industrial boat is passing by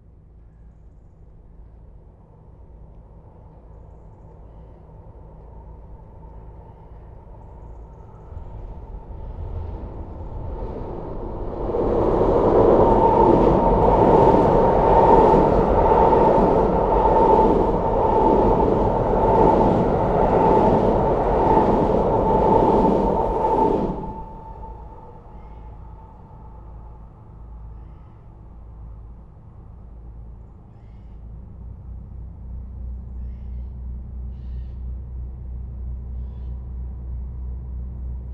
8.0s 27.7s

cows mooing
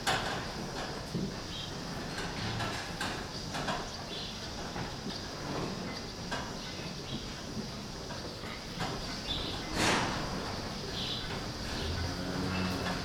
11.3s 13.0s

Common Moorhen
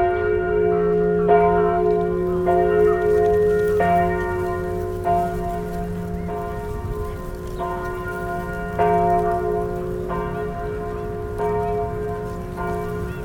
5.2s 8.8s

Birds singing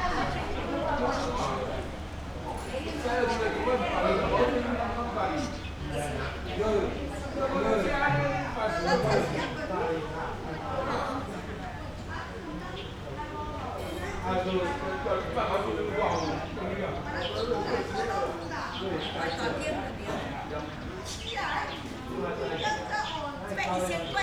5.2s 7.4s, 15.9s 24.2s

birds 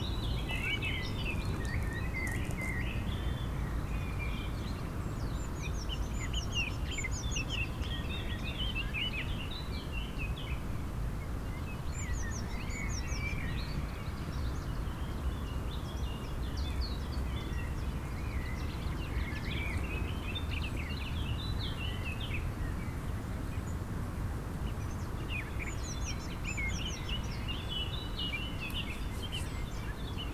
24.7s 30.3s

